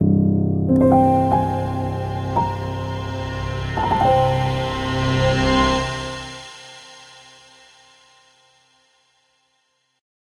0.7s strings 8.4s

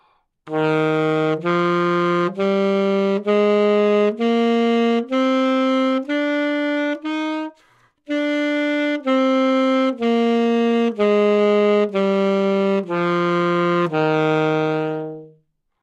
0.5s Sax Alto 15.5s

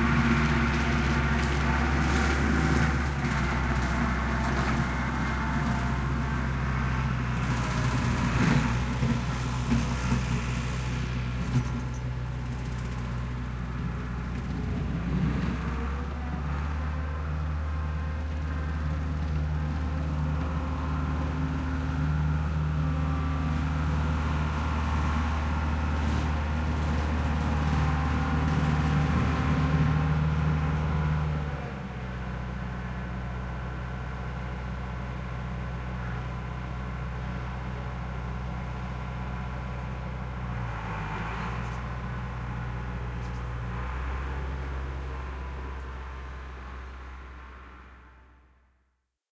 0.0s tractor on rough terrain 48.8s

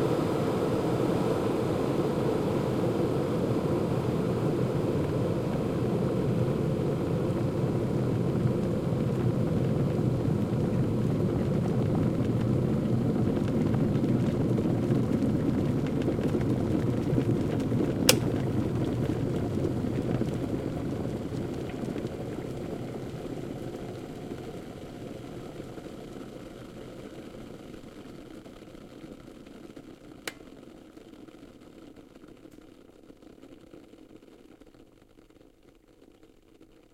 0.0s water boiling 36.9s
18.1s clicks of the kettle 18.4s
30.2s clicks of the kettle 30.5s

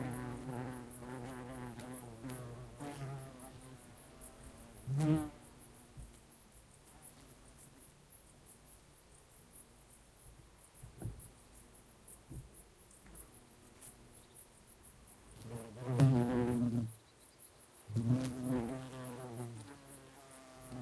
0.0s bumblebees buzzing around a flower 7.9s
0.0s calm wind 20.8s
0.0s crickets in background 20.8s
12.5s bumblebees buzzing around a flower 17.1s
17.8s bumblebees buzzing around a flower 20.8s

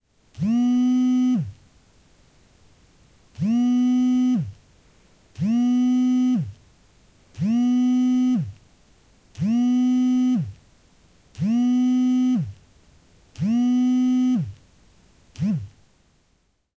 0.4s cell phone vibrator 1.6s
3.4s cell phone vibrator 4.6s
5.4s cell phone vibrator 6.6s
7.4s cell phone vibrator 8.6s
9.4s cell phone vibrator 10.6s
11.4s cell phone vibrator 12.6s
13.4s cell phone vibrator 14.6s
15.4s cell phone vibrator 15.8s

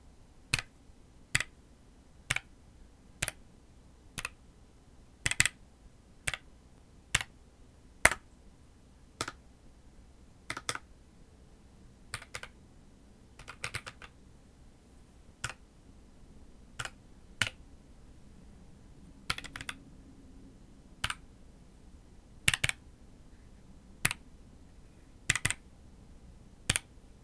5.3s key presses on a PC keyboard 5.6s
10.5s key presses on a PC keyboard 10.8s
12.1s key presses on a PC keyboard 12.6s
13.4s key presses on a PC keyboard 14.2s
16.8s key presses on a PC keyboard 17.6s
19.3s key presses on a PC keyboard 19.8s
21.0s key presses on a PC keyboard 21.2s
22.5s key presses on a PC keyboard 22.8s
25.3s key presses on a PC keyboard 25.6s

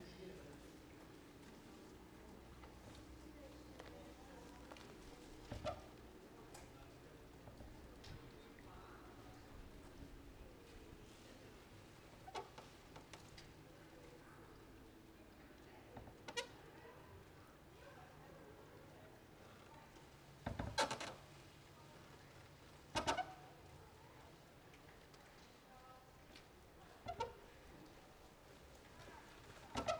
0.0s people in the background 29.9s
4.8s hull of a small boat creaks against the post 6.0s
16.0s hull of a small boat creaks against the post 16.6s
20.4s hull of a small boat creaks against the post 21.3s
22.9s hull of a small boat creaks against the post 23.6s
27.0s hull of a small boat creaks against the post 27.7s
29.4s hull of a small boat creaks against the post 29.9s

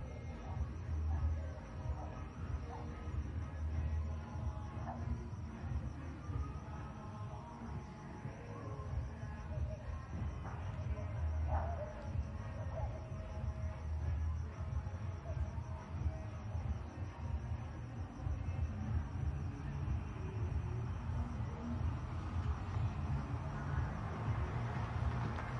0.0s Music 25.5s
0.0s people partying 25.5s
19.8s cars 25.5s

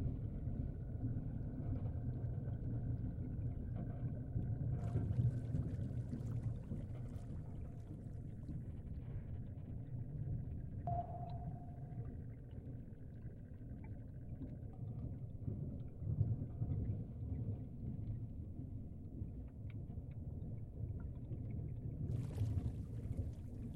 0.0s general underwater noises 23.7s
1.2s bubbles 23.7s

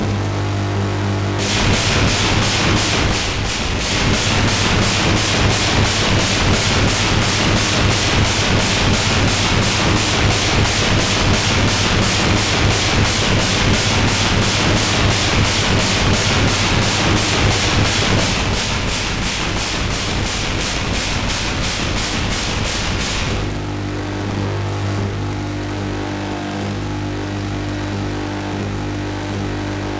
0.0s Bass Drum 25.3s
1.4s Snare Drum 23.6s

